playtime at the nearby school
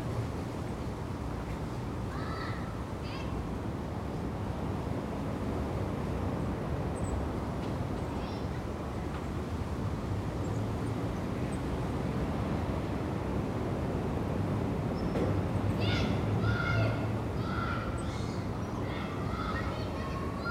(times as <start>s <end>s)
2.1s 3.4s, 7.6s 8.6s, 15.3s 20.5s